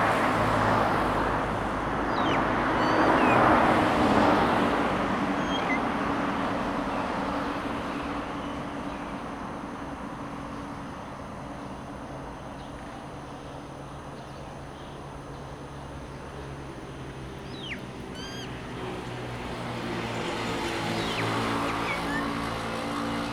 0.0s traffic sound 23.3s
1.2s birds chirping 7.4s
14.2s birds chirping 23.3s

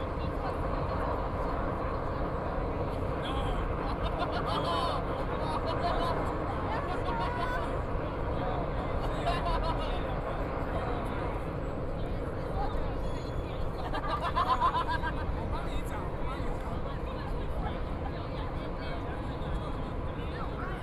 0.0s crowd 20.8s
3.8s Laughter 6.3s
9.0s Laughter 10.1s
13.8s Laughter 15.4s

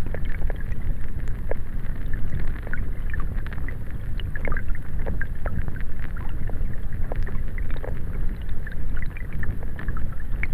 0.0s stream 10.5s

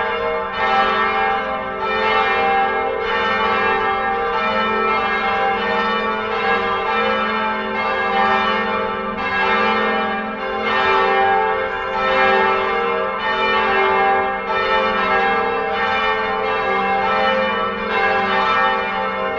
0.0s belles 19.3s

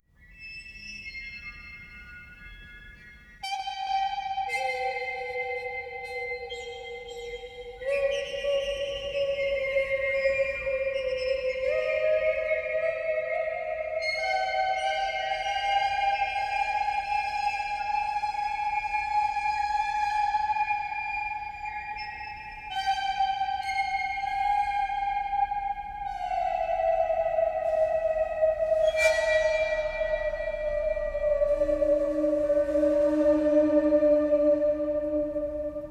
0.0s whistling 35.9s

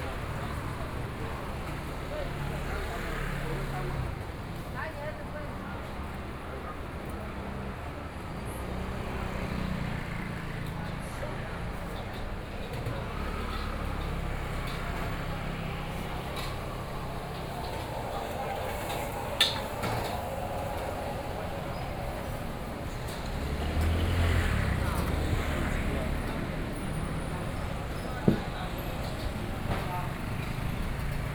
0.0s Traffic Noise 31.3s

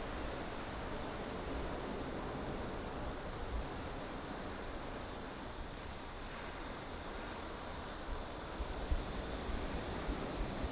0.0s waves 10.7s

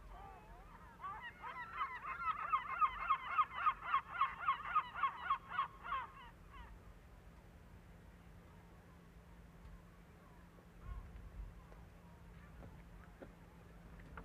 0.0s Seaguls 6.8s

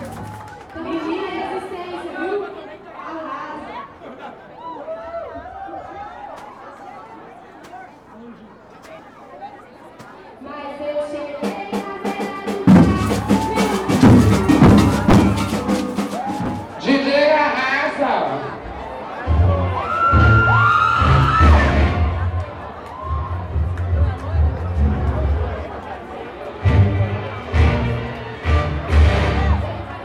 0.0s tossed eggs at the participants 0.8s
0.0s presentation of maracatu 2.4s
0.0s national anthem 2.5s
10.0s presentation of maracatu 18.0s
10.4s national anthem 18.4s

